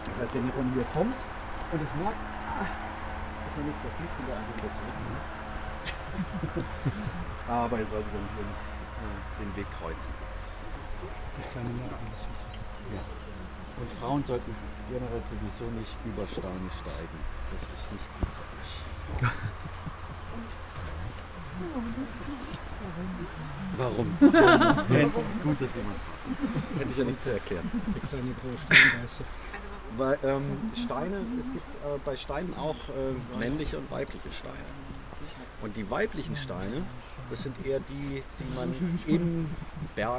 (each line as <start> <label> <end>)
0.0 preparation talk 40.1